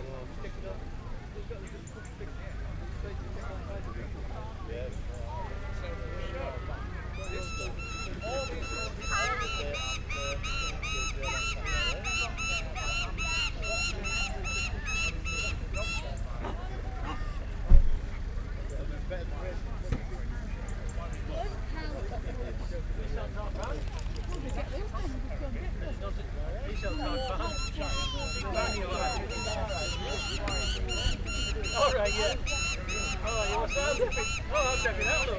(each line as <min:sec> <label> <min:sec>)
0:00.0 voices 0:35.3
0:07.0 public address system 0:16.2
0:25.7 public address system 0:35.3